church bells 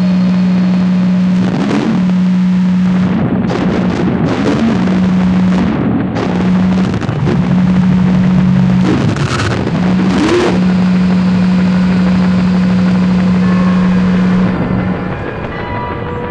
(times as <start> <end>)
10.6 16.3